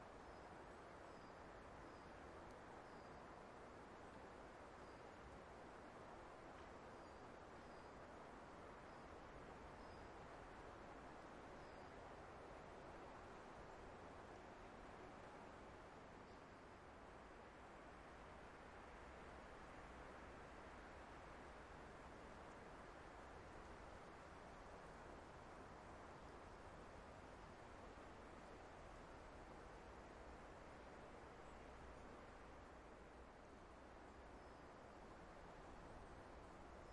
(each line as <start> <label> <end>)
0.0 leaves 36.9